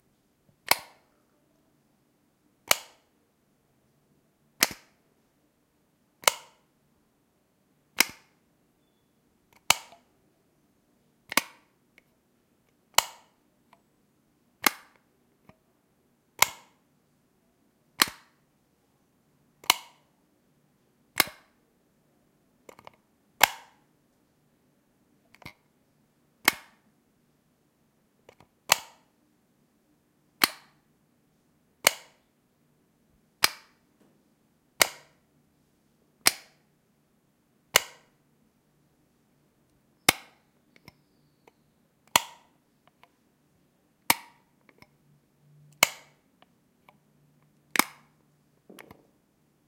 light switch plastic bathroom on off button push clicks1 2.6 - 3.1
light switch plastic bathroom on off button push clicks1 4.6 - 5.0
light switch plastic bathroom on off button push clicks1 6.2 - 6.6
light switch plastic bathroom on off button push clicks1 8.0 - 8.3
light switch plastic bathroom on off button push clicks1 16.4 - 16.8
light switch plastic bathroom on off button push clicks1 26.4 - 26.8
light switch plastic bathroom on off button push clicks1 31.8 - 32.2
light switch plastic bathroom on off button push clicks1 33.4 - 33.8
light switch plastic bathroom on off button push clicks1 34.8 - 35.1
light switch plastic bathroom on off button push clicks1 37.7 - 38.1
light switch plastic bathroom on off button push clicks1 42.1 - 42.5
light switch plastic bathroom on off button push clicks1 44.1 - 44.4
light switch plastic bathroom on off button push clicks1 45.8 - 46.2

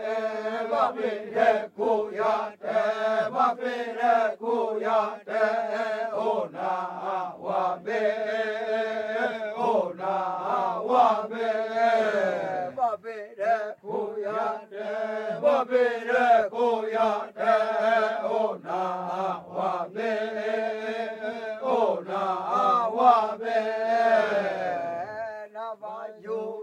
male voices 12.3 - 13.8

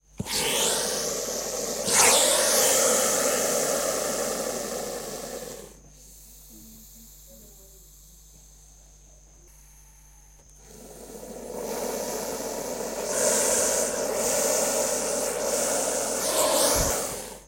Boa Constrictor warning us not to get any closer 0.3 - 5.7
Boa Constrictor warning us not to get any closer 10.6 - 17.4

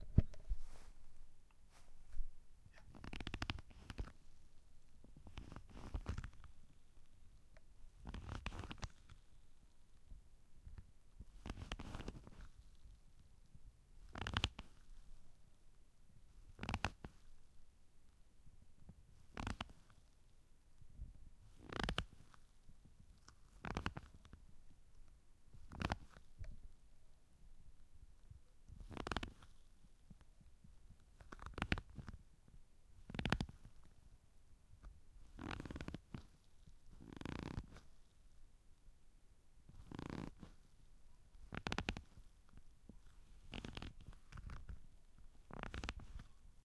Creaking leather 2.8 - 4.2
Creaking leather 5.2 - 6.5
Creaking leather 8.0 - 9.2
Creaking leather 11.4 - 12.6
Creaking leather 14.1 - 14.8
Creaking leather 16.5 - 17.3
Creaking leather 19.3 - 20.0
Creaking leather 21.6 - 22.4
Creaking leather 23.5 - 24.3
Creaking leather 25.7 - 26.3
Creaking leather 28.8 - 29.6
Creaking leather 31.2 - 32.2
Creaking leather 33.1 - 33.7
Creaking leather 35.3 - 36.4
Creaking leather 37.0 - 37.9
Creaking leather 39.7 - 40.6
Creaking leather 41.4 - 42.3
Creaking leather 43.3 - 44.8
Creaking leather 45.4 - 46.3

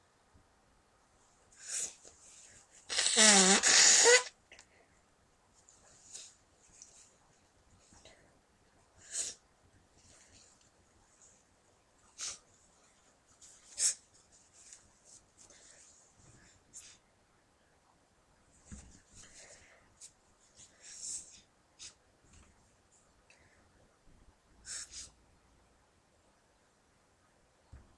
blowing one's nose 2.9 - 4.4

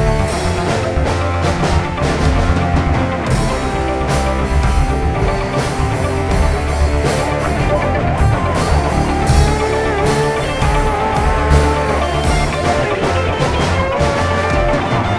Drum Track 0.0 - 15.1
Guitar 0.0 - 15.1
Synth 0.0 - 15.1

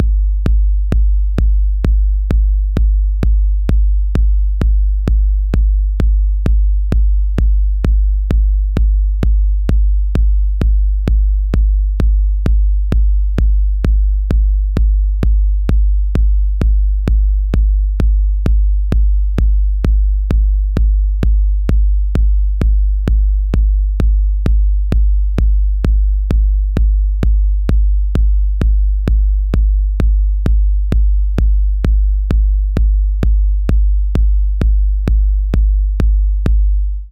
kick 0.0 - 36.7

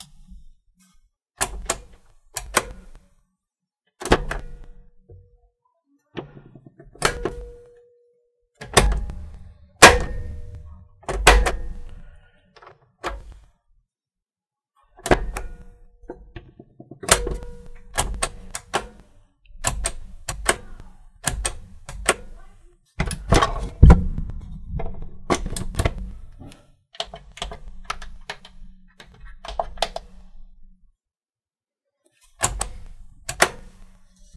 pressing buttons on an old cassette player 1.4 - 3.0
pressing buttons on an old cassette player 7.0 - 7.6
pressing buttons on an old cassette player 8.6 - 12.0
pressing buttons on an old cassette player 17.0 - 19.0
pressing buttons on an old cassette player 19.6 - 24.3
pressing buttons on an old cassette player 25.3 - 30.2
pressing buttons on an old cassette player 32.4 - 34.0

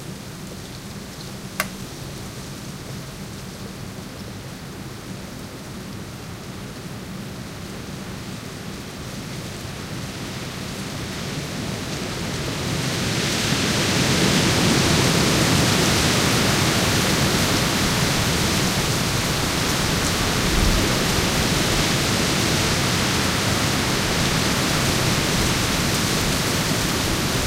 noise of the trees and dry branches 0.0 - 13.1

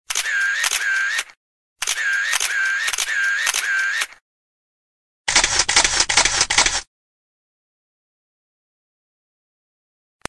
camera shutter 0.1 - 4.2
camera shutter 5.3 - 6.9

